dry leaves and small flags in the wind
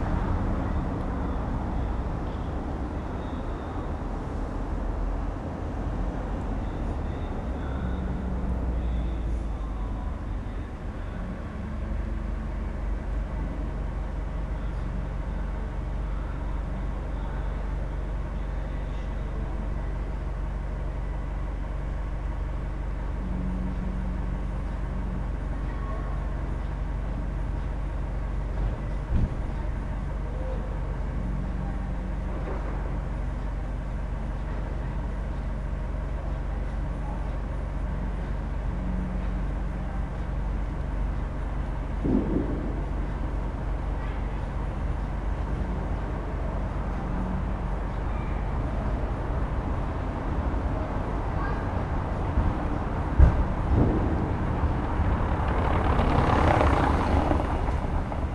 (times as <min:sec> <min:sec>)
0:40.9 0:58.3